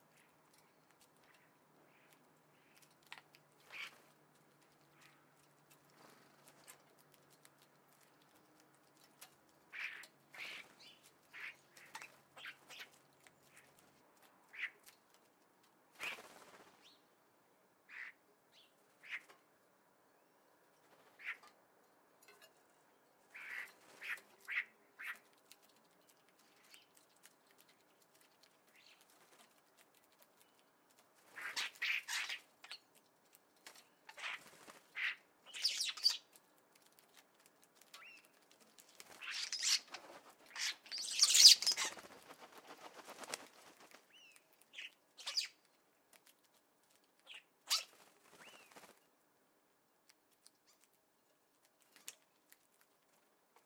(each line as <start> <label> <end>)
15.9 wing sounds of woodpigeon 16.9
33.6 wing sounds of woodpigeon 35.1
33.6 house sparrow 36.4
34.2 starlings 36.2
36.7 wing sounds of woodpigeon 45.5
37.8 house sparrow 42.1
39.1 starlings 42.1
44.0 starlings 45.6
44.1 house sparrow 45.8
47.7 wing sounds of woodpigeon 49.1